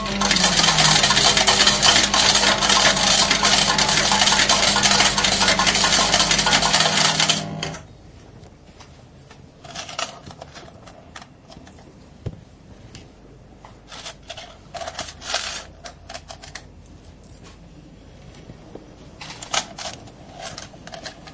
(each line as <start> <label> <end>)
0.0 old slotmachine (fruit machine) 7.9